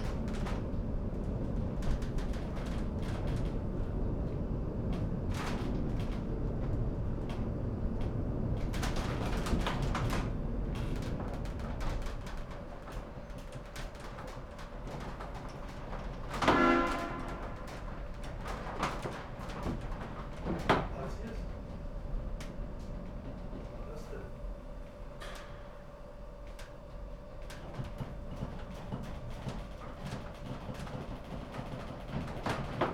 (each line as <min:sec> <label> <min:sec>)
0:00.0 cable car driving down-hill 0:32.9